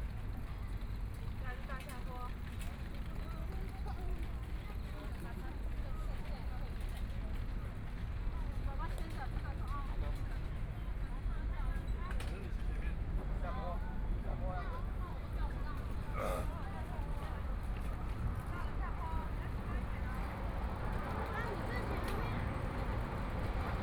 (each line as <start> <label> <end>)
0.0 MRT trains 23.8
14.8 Walking along the track 23.8